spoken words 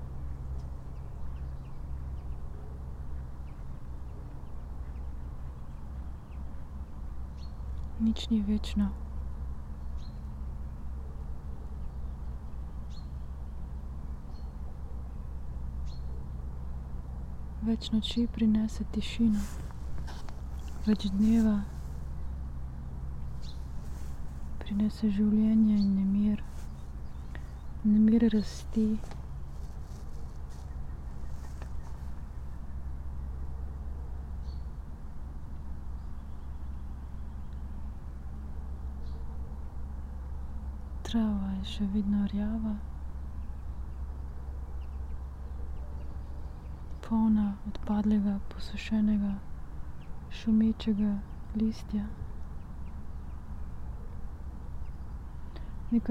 20.8s 21.7s, 27.8s 29.1s

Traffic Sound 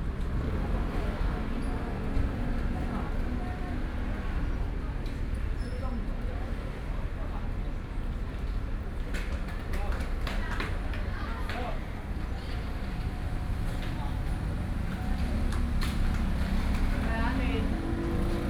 9.2s 18.4s

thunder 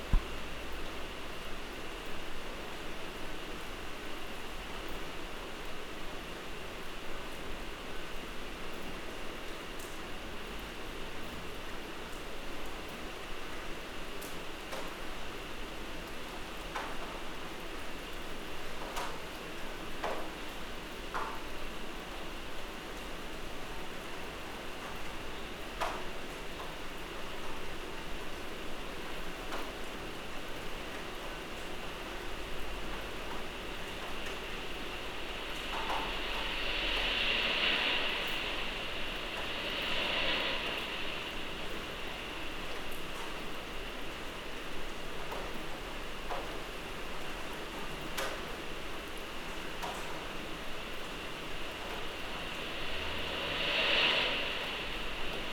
33.0s 43.7s, 49.8s 55.5s

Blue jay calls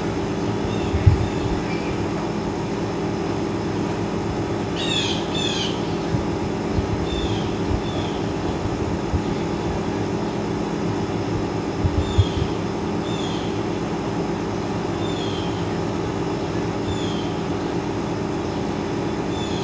0.0s 2.8s, 4.6s 10.5s, 11.9s 13.8s, 14.9s 19.6s

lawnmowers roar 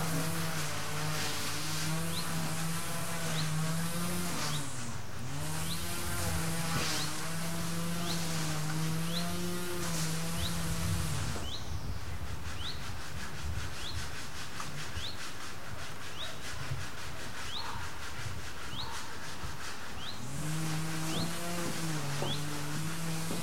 0.0s 11.6s, 20.0s 23.4s

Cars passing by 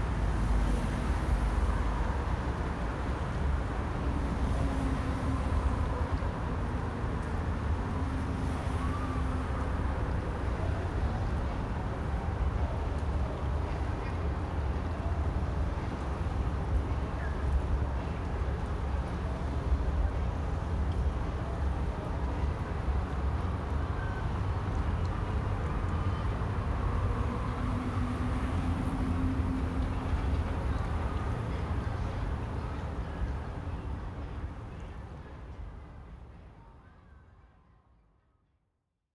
24.5s 33.0s

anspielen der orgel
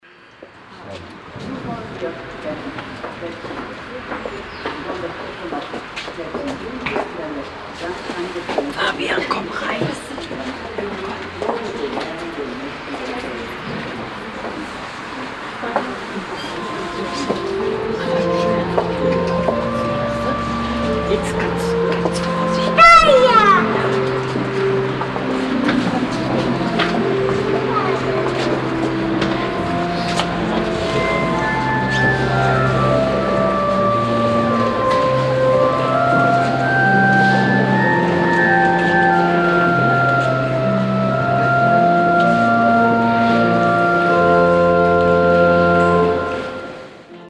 15.7s 47.2s

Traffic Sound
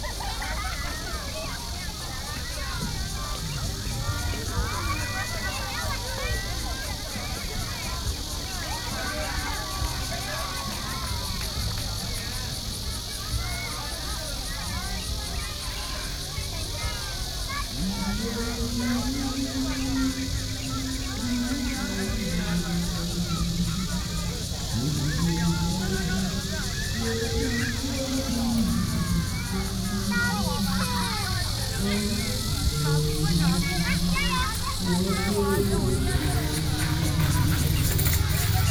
31.0s 38.7s

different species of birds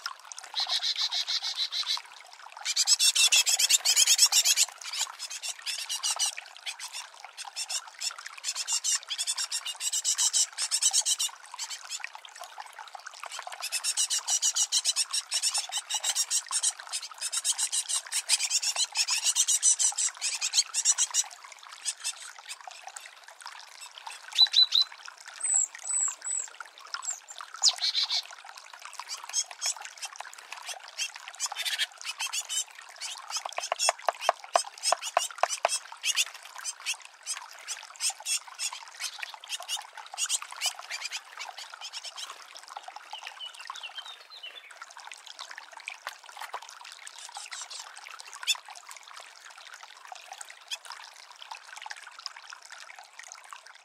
0.6s 2.0s, 23.8s 28.2s, 31.4s 37.0s

